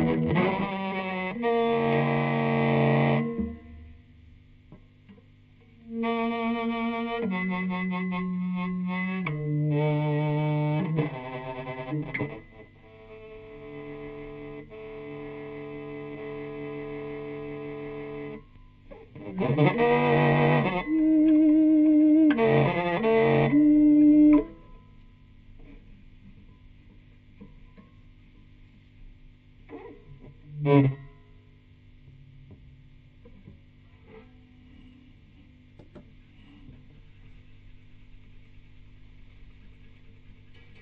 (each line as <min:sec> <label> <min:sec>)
0:00.0 prepared guitar solo 0:04.0
0:05.8 prepared guitar solo 0:27.9
0:29.6 prepared guitar solo 0:35.5